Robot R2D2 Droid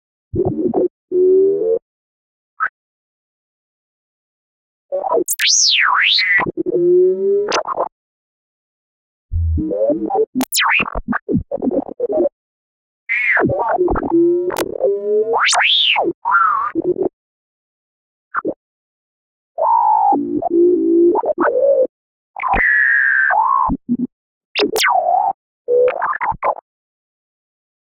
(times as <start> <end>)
5.2 6.2, 9.4 11.1, 24.6 25.1